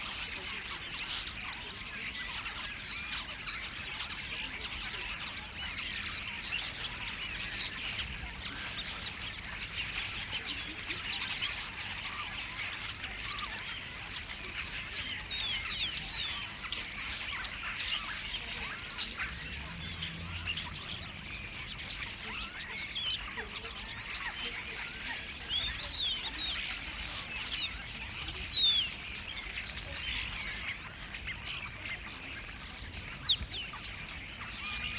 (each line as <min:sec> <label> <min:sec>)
0:00.0 Starlings gather on railyard lighting rigs 0:34.9
0:14.8 voices 0:34.9